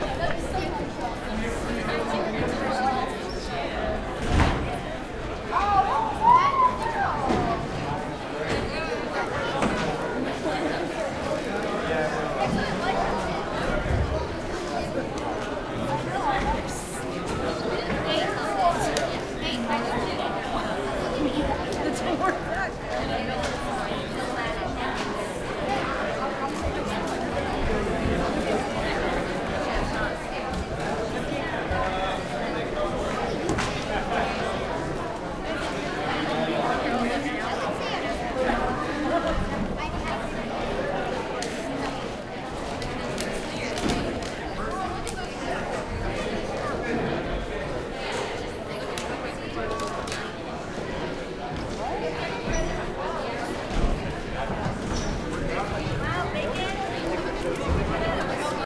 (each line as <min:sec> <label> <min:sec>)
0:00.0 crowd int high school students gym active 0:58.6